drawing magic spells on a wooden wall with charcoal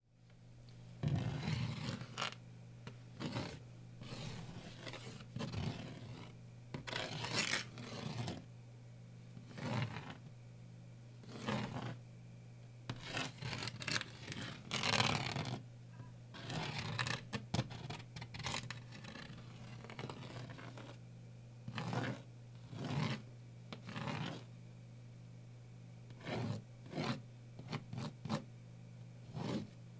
1.0s 2.4s, 3.0s 8.5s, 9.4s 10.3s, 11.2s 12.0s, 12.9s 15.6s, 16.3s 21.0s, 21.7s 24.5s, 26.1s 28.5s, 29.2s 29.8s

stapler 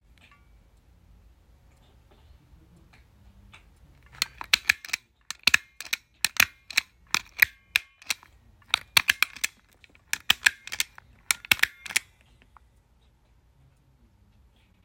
4.0s 12.1s

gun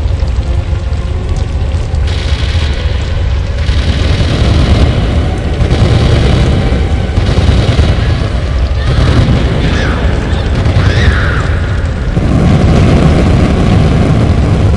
2.1s 11.5s

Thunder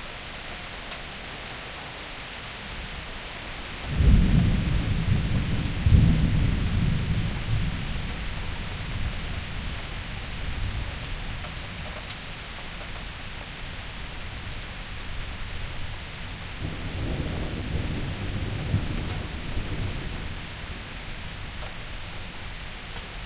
3.9s 8.4s, 16.6s 20.9s

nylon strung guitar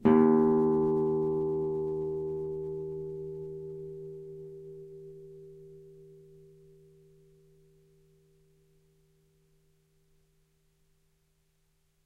0.0s 6.2s

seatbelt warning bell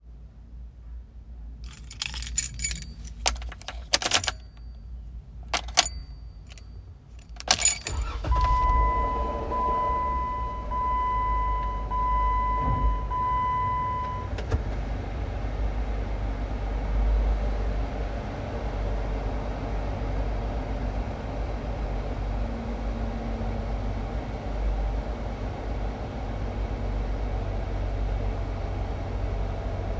1.6s 14.3s

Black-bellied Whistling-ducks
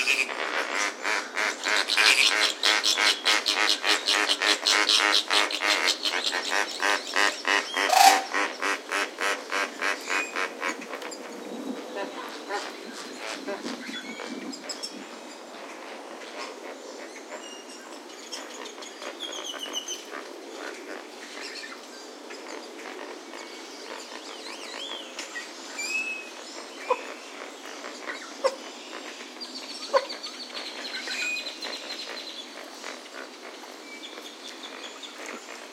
7.2s 8.5s

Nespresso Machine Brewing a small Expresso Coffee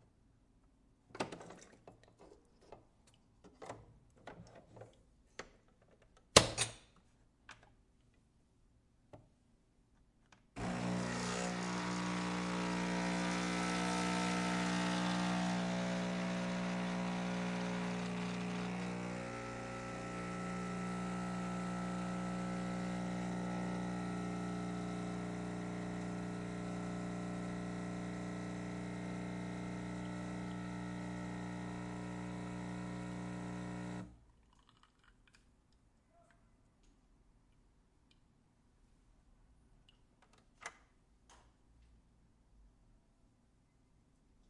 10.6s 34.2s

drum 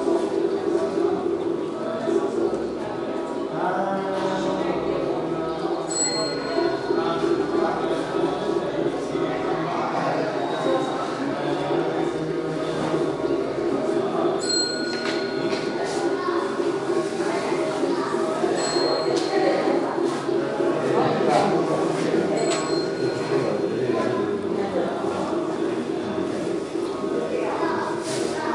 6.0s 9.9s, 10.6s 28.5s

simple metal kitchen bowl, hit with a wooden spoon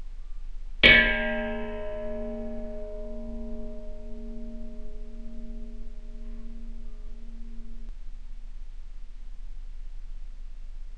0.8s 7.9s

